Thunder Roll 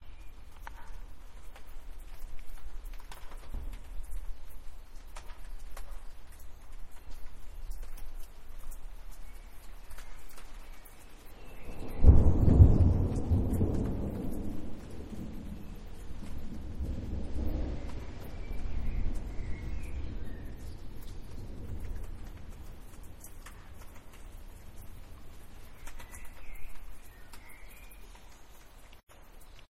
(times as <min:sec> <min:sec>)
0:11.6 0:26.4